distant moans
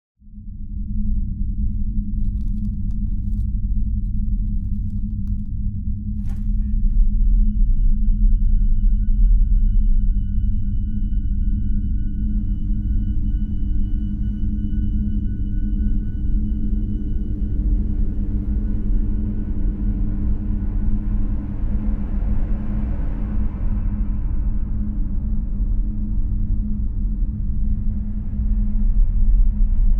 12.2s 28.8s

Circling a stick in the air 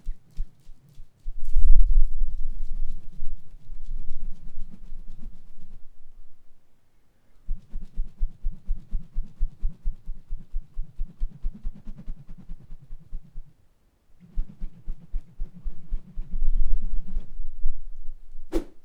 14.2s 17.6s, 18.4s 18.8s

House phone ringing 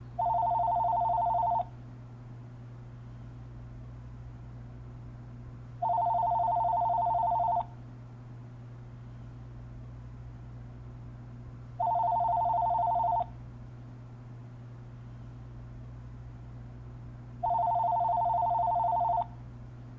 0.2s 1.7s, 5.8s 7.7s, 11.8s 13.3s, 17.4s 19.3s

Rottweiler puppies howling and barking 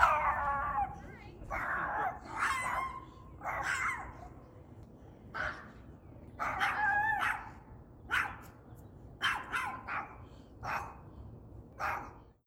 0.0s 4.2s

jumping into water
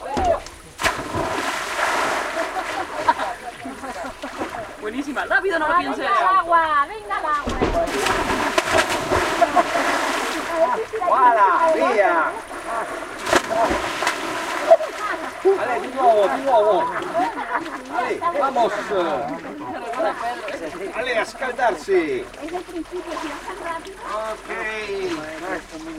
0.0s 4.8s, 7.4s 20.8s

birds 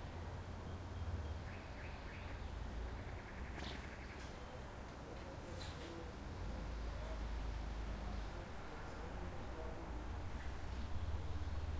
0.5s 6.0s

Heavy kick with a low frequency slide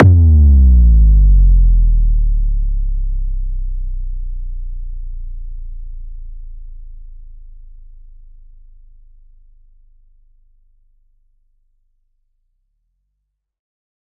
0.0s 7.2s

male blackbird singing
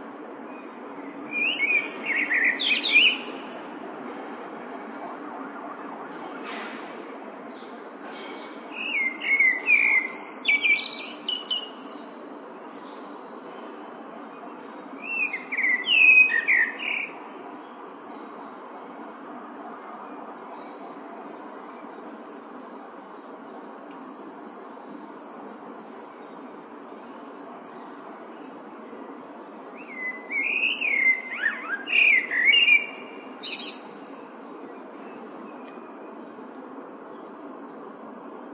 1.3s 3.8s, 8.7s 12.0s, 15.0s 17.1s, 29.8s 33.9s

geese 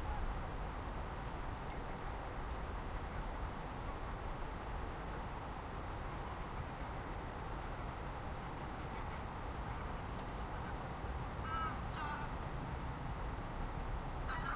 11.4s 12.4s, 14.3s 14.5s

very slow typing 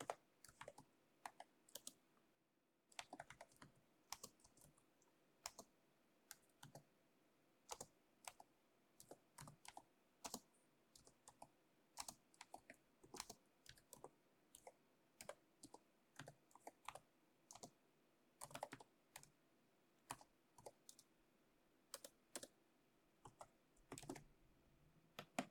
0.0s 2.0s, 2.9s 6.9s, 7.6s 17.8s, 18.4s 19.4s, 20.0s 21.1s, 21.9s 22.6s, 23.2s 24.3s

